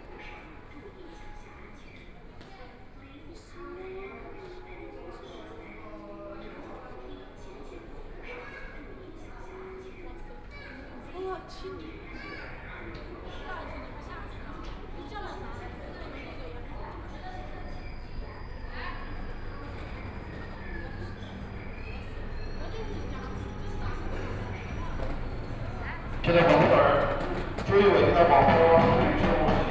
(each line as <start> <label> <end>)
23.9 walking 29.7